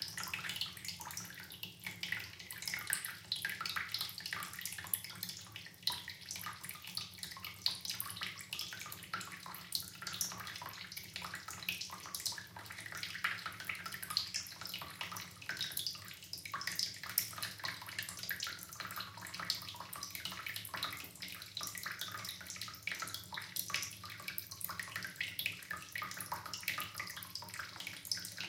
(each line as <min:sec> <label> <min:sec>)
0:00.0 Water Stream Dripping 0:28.4